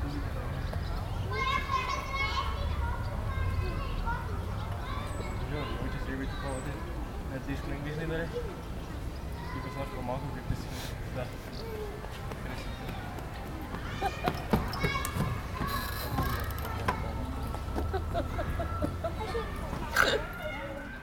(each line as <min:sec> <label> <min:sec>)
0:00.0 birds 0:21.0
0:00.0 cars in the distance 0:21.0
0:00.0 two teenagers talking close by 0:21.0
0:01.0 Kids playing 0:07.3
0:11.5 Kids playing 0:21.0
0:17.8 someone laughing 0:19.6